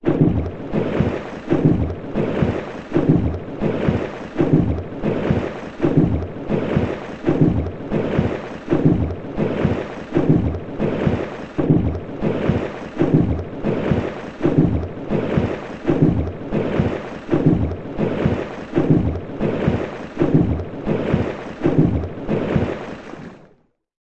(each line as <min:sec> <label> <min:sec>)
0:00.0 Under water hydraulic pump 0:23.6